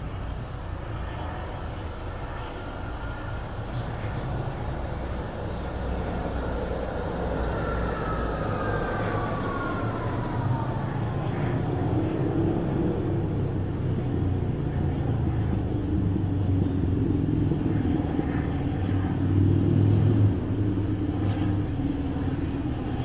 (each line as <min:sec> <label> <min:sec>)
0:00.0 helicopters 0:23.0
0:00.0 tramways 0:23.0